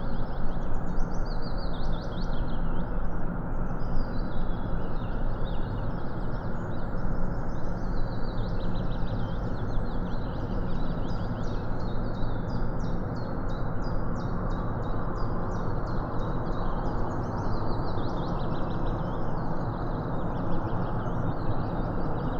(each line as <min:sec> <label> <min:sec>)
0:00.0 constant rumble of aircrafts 0:22.3